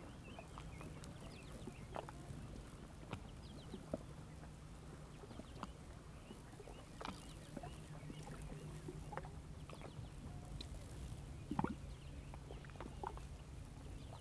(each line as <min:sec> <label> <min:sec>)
0:00.0 Dive 0:14.2
0:00.0 Light, warm wind 0:14.2
0:00.0 Powerboats 0:14.2
0:00.0 Swim 0:14.2